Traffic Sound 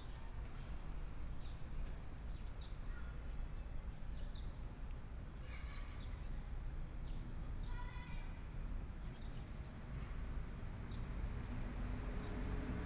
0:11.0 0:12.8

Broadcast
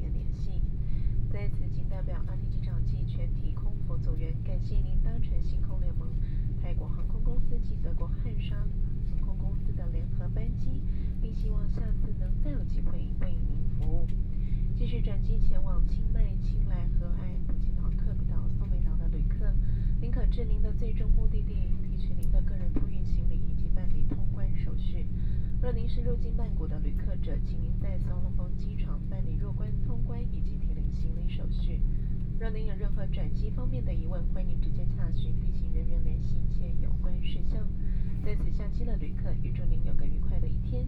0:32.4 0:40.8

